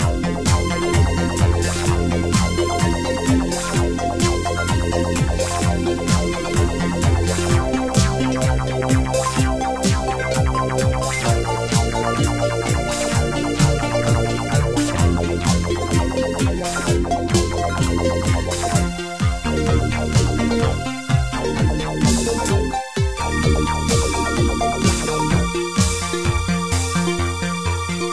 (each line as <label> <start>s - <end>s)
pads 0.0s - 27.0s
drum 0.0s - 27.4s
synth bass 0.0s - 28.1s